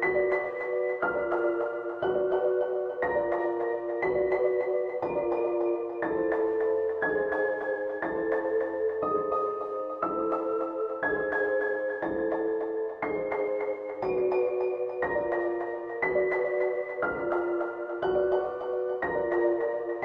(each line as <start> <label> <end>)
0.0 piano with melody 20.0